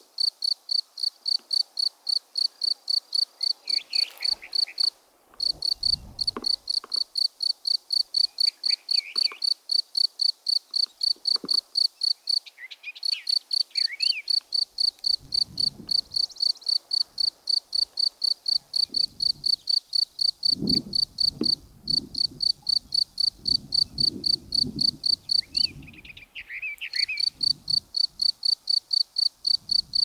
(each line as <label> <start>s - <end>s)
Locusts 1.3s - 7.3s